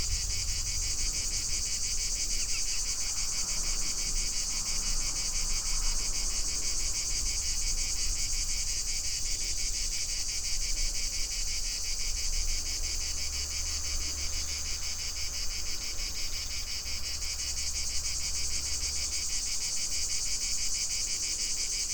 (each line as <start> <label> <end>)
0.0 distant thunder 3.8
0.0 cicadas 21.9